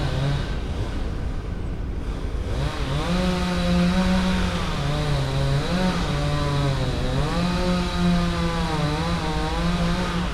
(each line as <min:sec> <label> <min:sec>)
0:02.4 man working a power saw, cutting a fallen tree 0:10.3